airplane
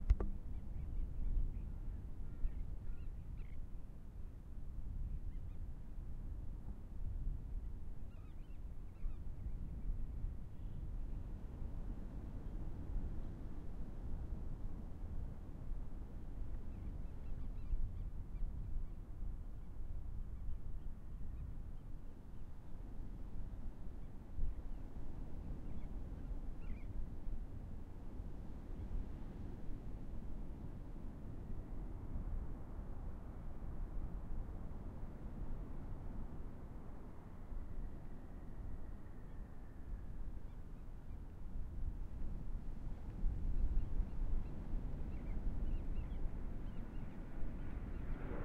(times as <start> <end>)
21.1 48.4